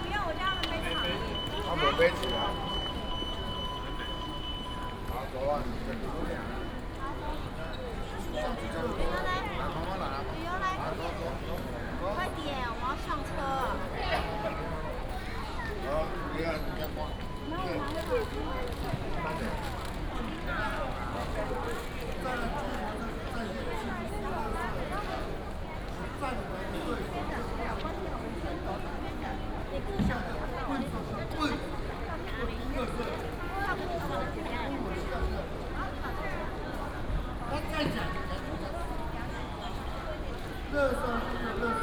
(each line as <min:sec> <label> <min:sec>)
0:00.0 Walk in the station hall 0:41.8